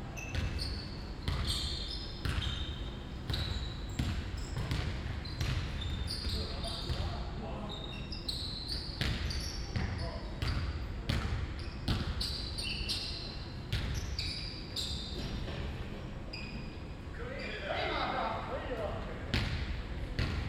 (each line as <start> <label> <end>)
0.0 constant noise from the ventilation system 20.4
0.1 squeaking shoes 10.8
11.6 squeaking shoes 15.6
16.3 squeaking shoes 16.8